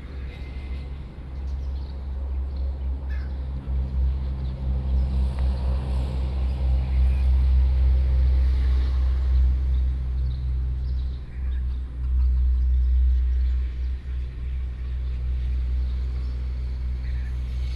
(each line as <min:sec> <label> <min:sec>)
0:00.0 Traffic Sound 0:17.7
0:08.3 Birdsong 0:17.7